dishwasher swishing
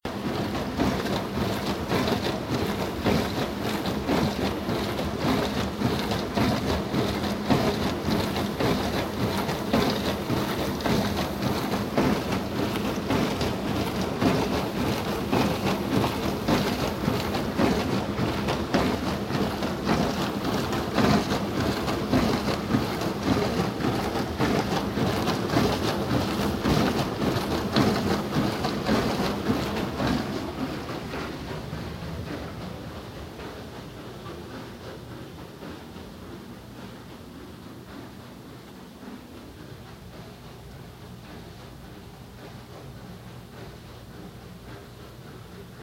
0.1s 36.0s

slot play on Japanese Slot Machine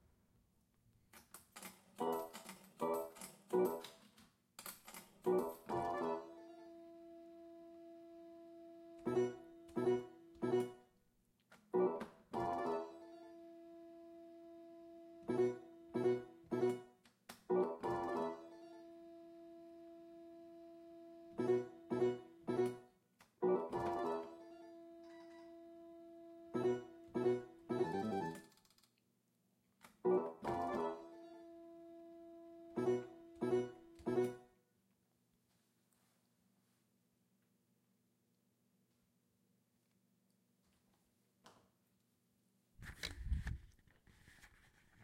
5.3s 6.8s, 12.4s 13.4s, 17.6s 19.1s, 23.5s 28.5s, 30.1s 31.5s

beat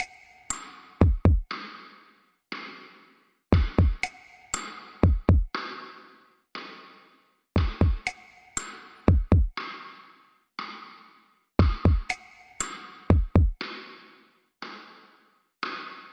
1.0s 1.5s, 3.6s 5.5s, 7.6s 9.6s, 11.6s 13.6s

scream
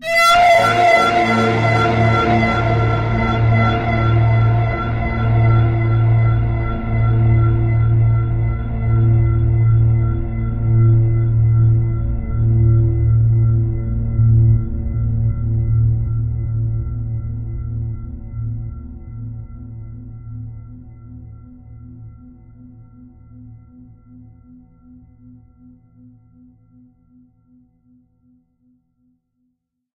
0.0s 8.6s

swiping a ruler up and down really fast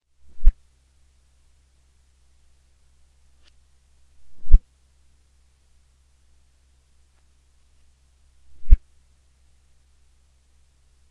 0.2s 0.6s, 4.2s 4.6s, 8.5s 8.8s

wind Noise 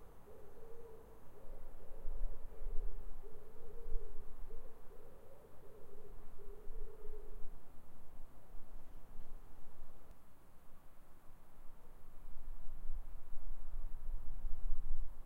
11.7s 15.2s

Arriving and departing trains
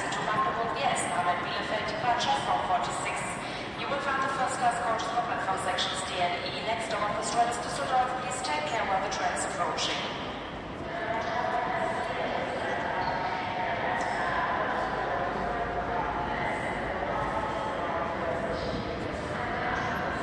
6.5s 20.2s

